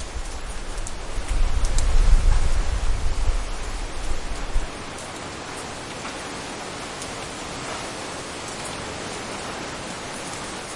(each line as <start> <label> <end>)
0.0 High Wind 10.7